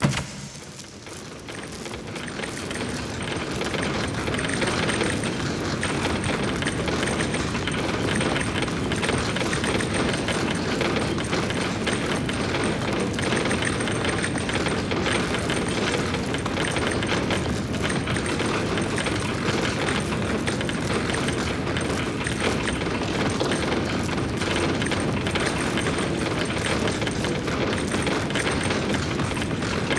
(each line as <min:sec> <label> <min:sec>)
0:00.0 Heavy Chain&Gears Moving2 0:09.1